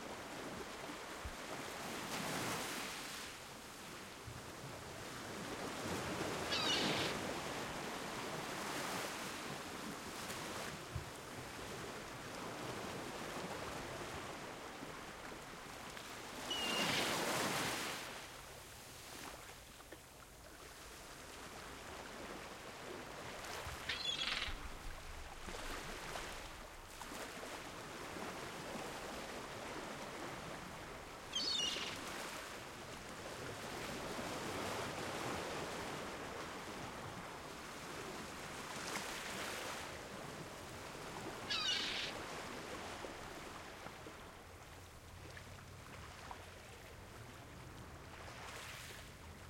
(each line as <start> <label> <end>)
0.0 Sea 49.4
6.4 seagulls 7.2
16.5 seagulls 17.2
23.8 seagulls 24.6
31.3 seagulls 32.1
41.5 seagulls 42.2